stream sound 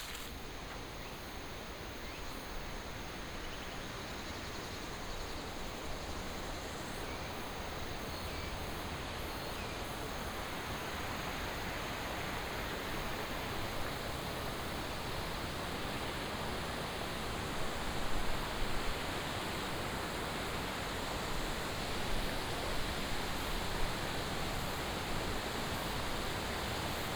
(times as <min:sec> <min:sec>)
0:00.0 0:00.3